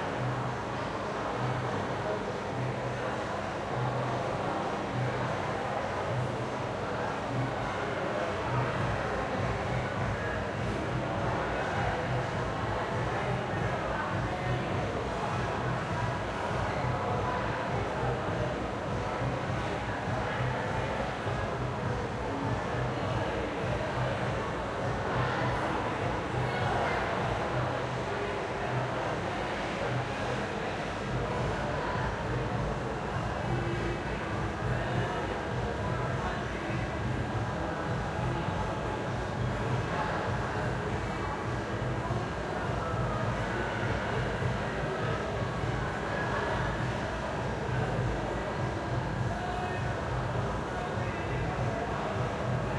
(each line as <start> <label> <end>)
0.0 Distant Crowd 52.7